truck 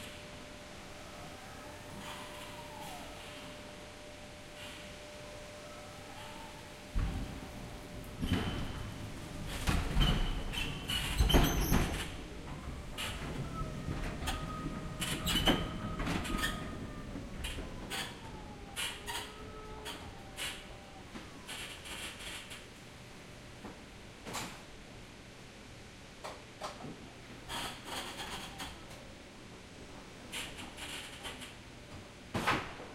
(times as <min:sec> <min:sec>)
0:04.5 0:23.1